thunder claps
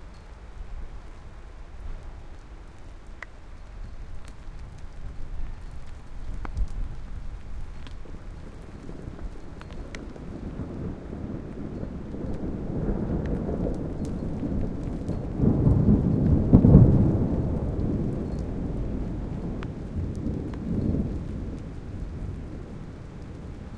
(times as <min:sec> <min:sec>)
0:08.0 0:23.7